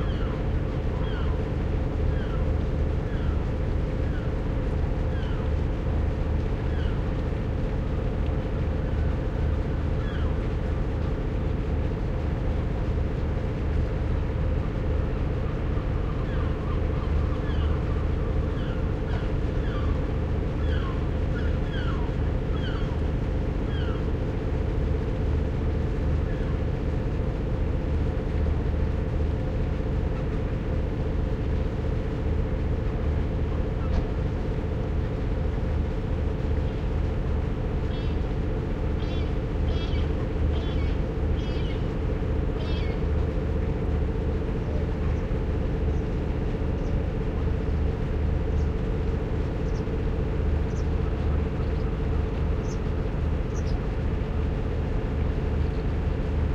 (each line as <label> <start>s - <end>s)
seagulls 39.0s - 41.9s
seagulls 42.6s - 43.0s